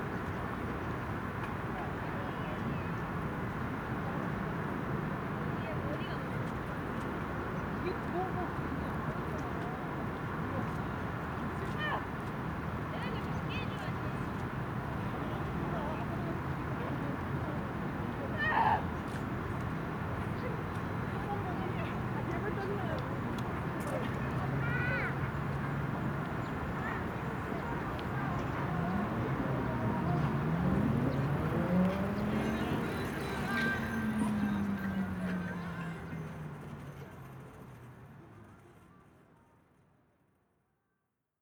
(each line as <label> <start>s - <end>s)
Han river 5.3s - 39.7s
People talking 20.2s - 25.3s
Riding Bicycle 21.2s - 39.8s
People talking 26.8s - 39.6s